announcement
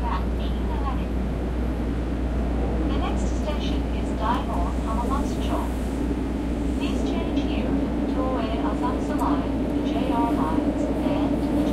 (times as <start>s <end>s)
2.9s 5.8s, 6.8s 11.7s